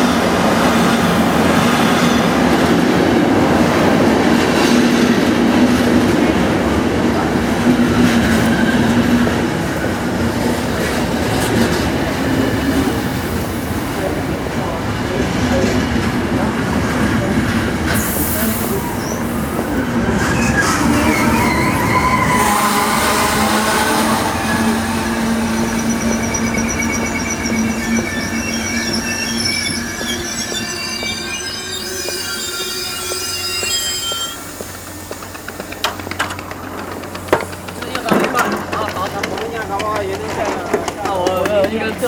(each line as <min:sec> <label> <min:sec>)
0:00.0 jumping on the train 0:42.0
0:17.1 noise from the the train brakes when stopping 0:42.0